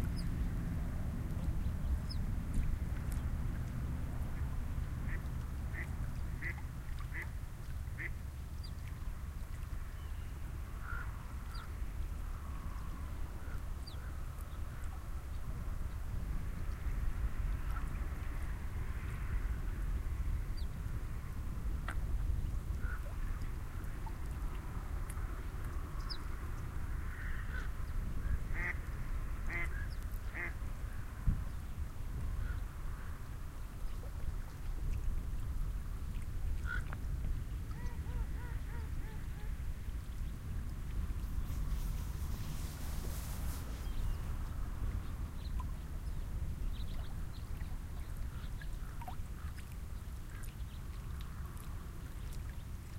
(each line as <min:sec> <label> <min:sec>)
0:28.5 Ducks can be heard feeding and vocalizing 0:28.8
0:29.4 Ducks can be heard feeding and vocalizing 0:30.6
0:37.7 Ducks can be heard feeding and vocalizing 0:39.6
0:41.2 recording hiss 0:47.5